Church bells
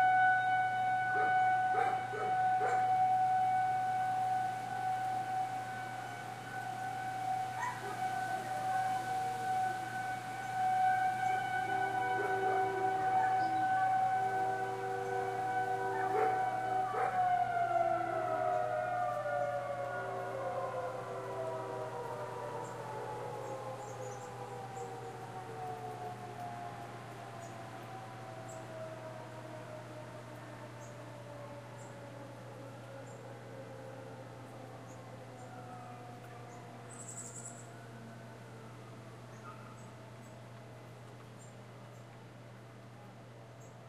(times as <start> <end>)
0.0 3.0, 11.8 17.3